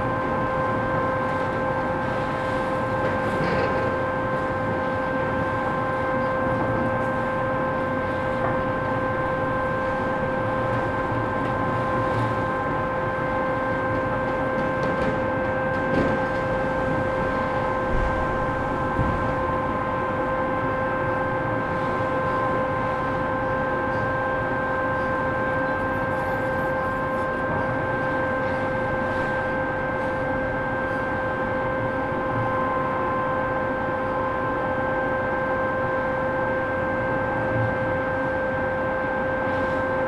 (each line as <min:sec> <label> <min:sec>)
0:00.0 noise of different excavators 0:30.3